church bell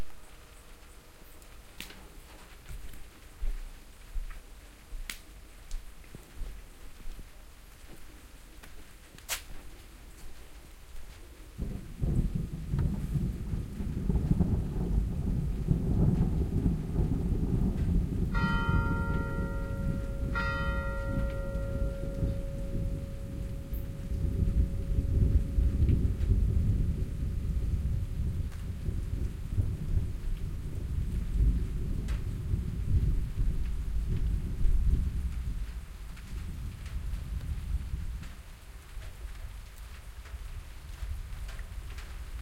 18.3 26.5

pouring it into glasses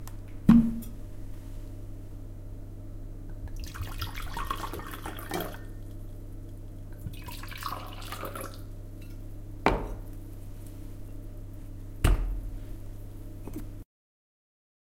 3.5 5.8, 7.0 8.7

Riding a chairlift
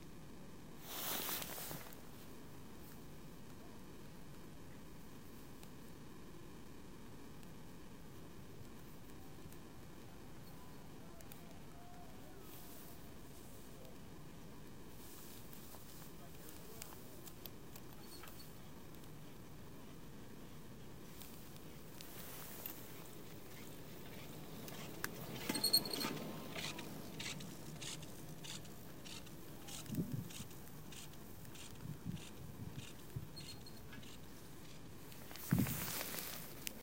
20.8 36.8

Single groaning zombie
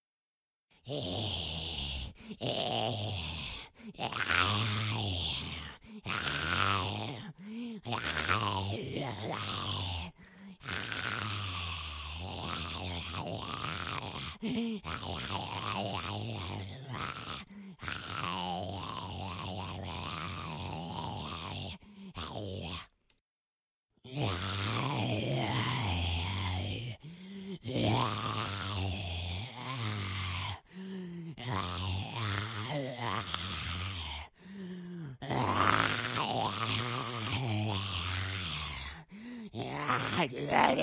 24.1 40.8

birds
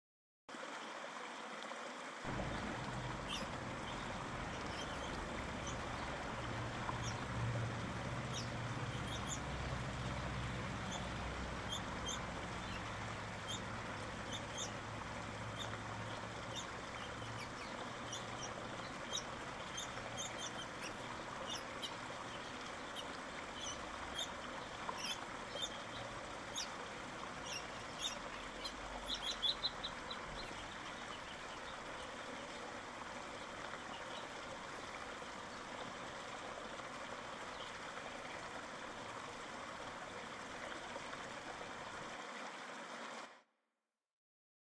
2.3 32.6, 33.2 36.1, 37.2 38.5

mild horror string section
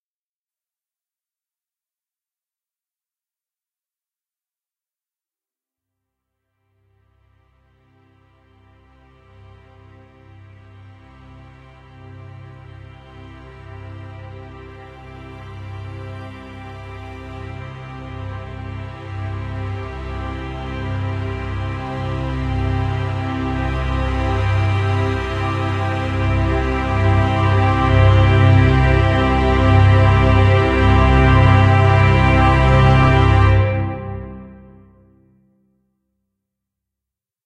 7.7 35.0

